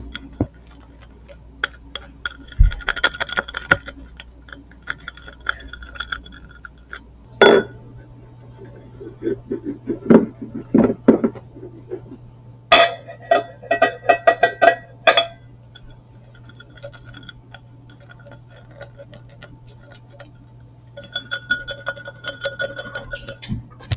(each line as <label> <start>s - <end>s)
rub the glass against a vase 8.5s - 12.2s
Scratching the glass with my nails 8.7s - 12.2s
Scratching the glass with my nails 15.8s - 23.4s
rub the glass against a vase 15.8s - 23.4s